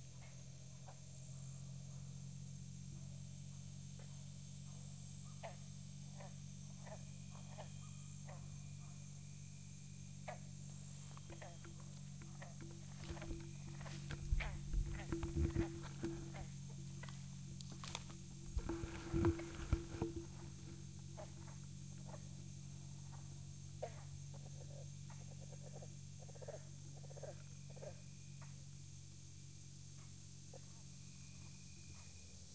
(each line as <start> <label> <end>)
0.0 cicada 32.5
0.0 night insect 32.5